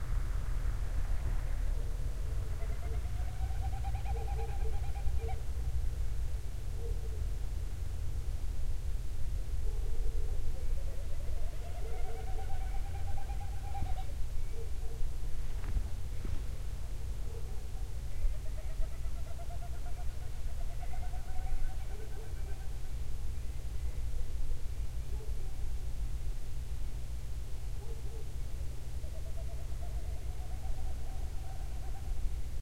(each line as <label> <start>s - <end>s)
Vultures 1.1s - 5.7s
Dogs 9.6s - 11.0s
Vultures 9.8s - 16.6s
Dogs 17.2s - 17.9s
Vultures 17.2s - 23.0s
Dogs 27.8s - 28.4s
Vultures 27.8s - 32.5s